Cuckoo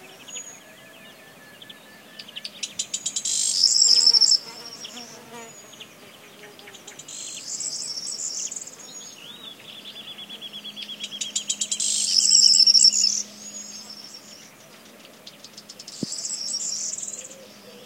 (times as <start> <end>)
16.0 17.8